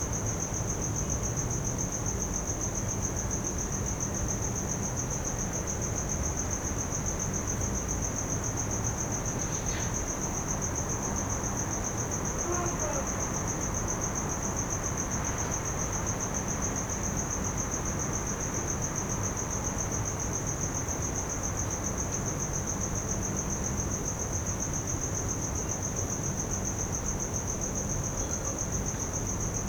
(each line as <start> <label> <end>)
12.4 calling for papa 13.2